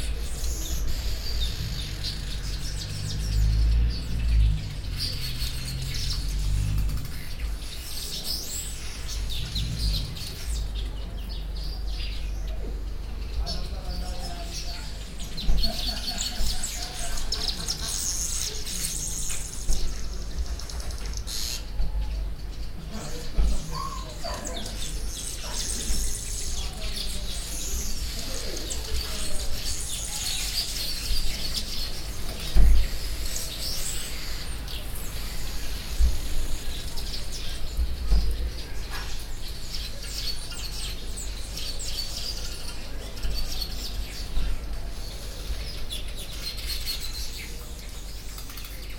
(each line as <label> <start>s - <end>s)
weaver birds in the mnemu trees 0.0s - 48.9s